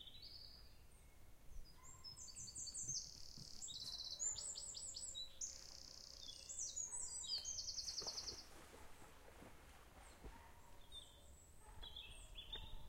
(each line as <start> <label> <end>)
0.0 birds 12.8
0.0 trees 12.8